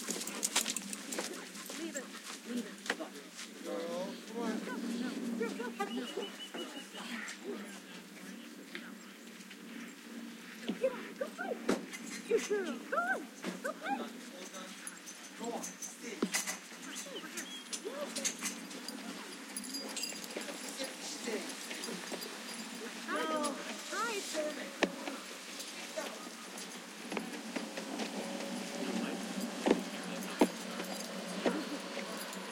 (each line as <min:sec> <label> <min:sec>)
0:00.0 dogs playing and barking 0:08.1
0:03.6 owners calling out 0:07.8
0:09.3 dogs playing and barking 0:32.5
0:16.1 owners calling out 0:32.5